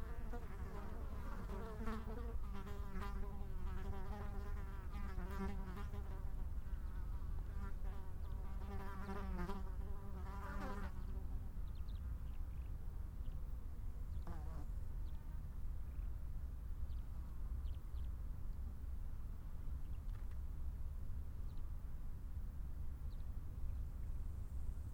10.7s birds 16.2s

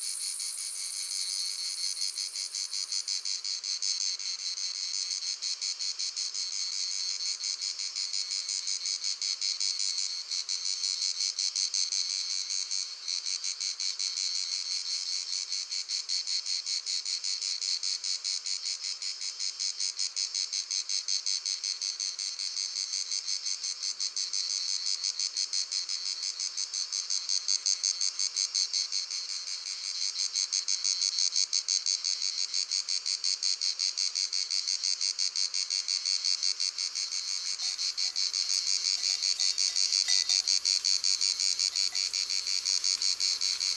0.0s crickets 43.7s
37.4s bells of two cows 43.7s

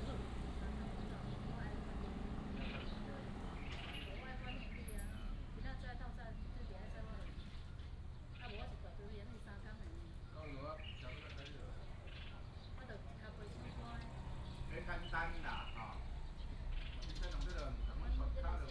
0.0s birds sound 5.6s
0.0s traffic sound 5.8s
10.2s birds sound 18.3s
13.3s traffic sound 18.7s

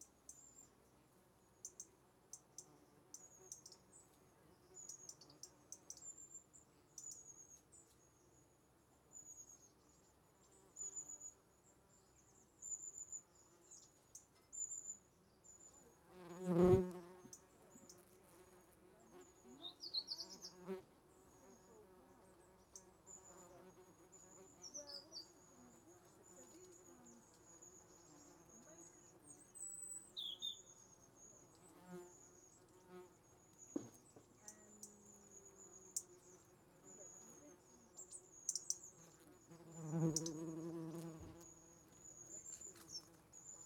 0.0s Birds 43.6s
16.1s Wasps 20.8s
31.3s Wasps 43.6s

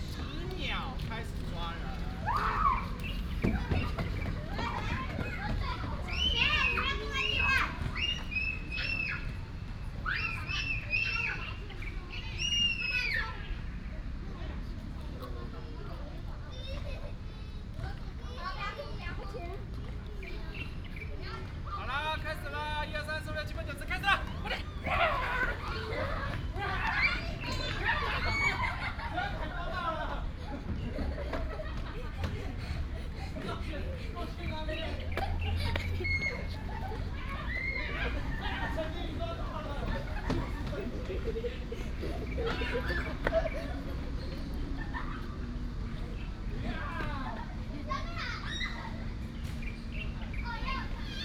0.0s traffic sound 51.2s
0.0s Children play with their father 51.2s
2.4s Birds 9.3s
20.1s Birds 21.7s
48.1s Birds 51.2s

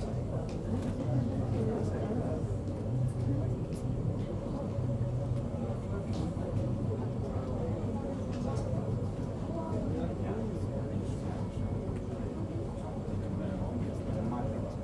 0.0s visitors murmur in low voices 14.8s

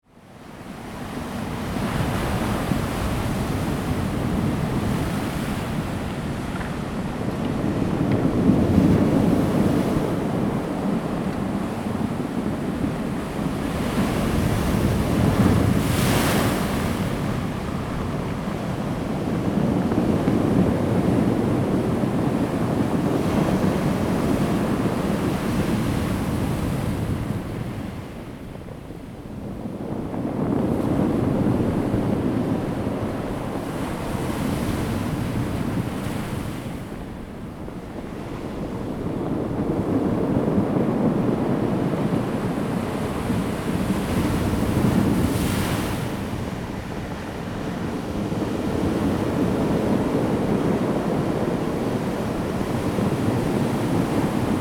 0.3s waves 54.6s

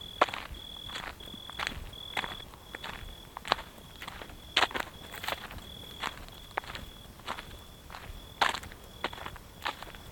0.0s Unpaved gravel road 10.1s

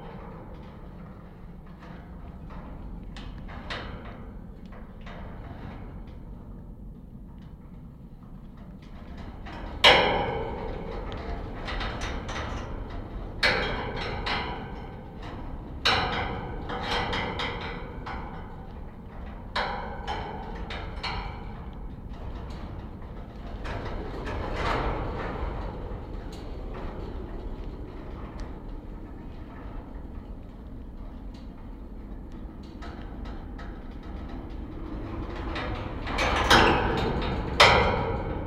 7.5s wind rattling the wire fence 38.4s

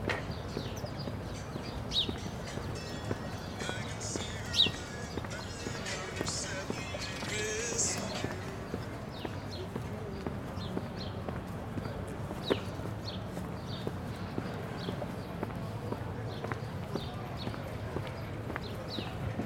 0.0s birds 19.4s
2.2s conversations 10.3s

